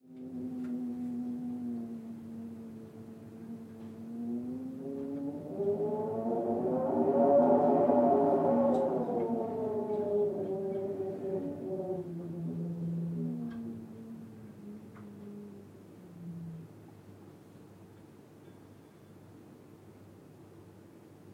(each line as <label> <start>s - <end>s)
Wind sound 1.1s - 15.4s